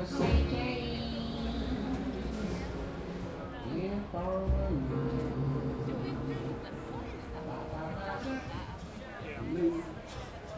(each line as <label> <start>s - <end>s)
tourists and colorful locals 0.0s - 10.5s